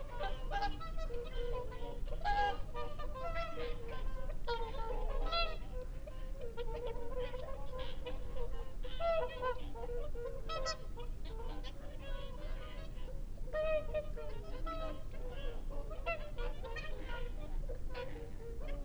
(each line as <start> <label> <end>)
0.0 curlew 18.8